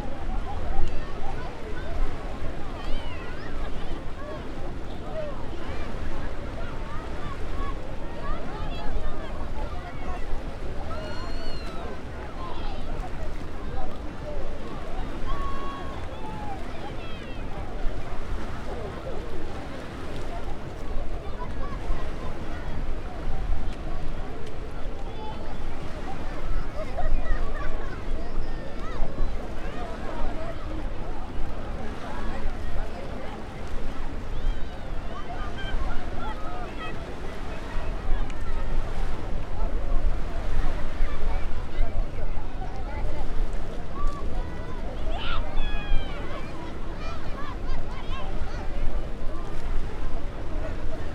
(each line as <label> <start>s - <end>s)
boat-engine noises 0.0s - 51.1s
calmer watery sound 0.0s - 51.1s
human noises 0.0s - 51.1s
waves crashing on the shore 0.0s - 51.1s